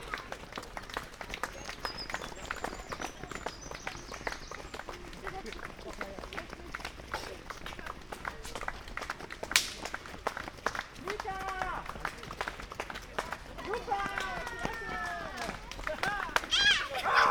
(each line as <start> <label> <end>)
0.0 flock of kids running-by 17.3
0.0 people clapping 17.3